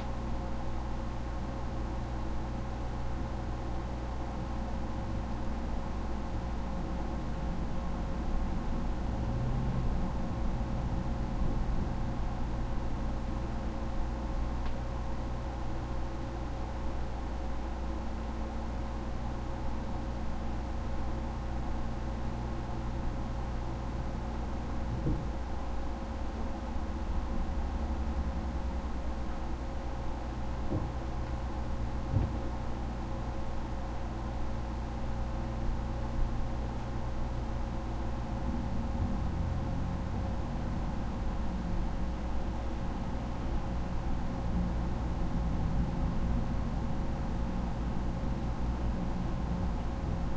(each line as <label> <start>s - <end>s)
traffic 8.5s - 12.9s
traffic 38.5s - 41.8s